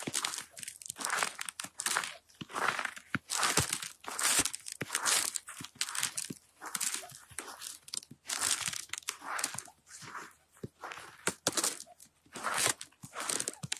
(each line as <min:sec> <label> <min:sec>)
0:00.0 crispy ice 0:10.2
0:00.1 snow 0:13.7
0:10.9 crispy ice 0:13.7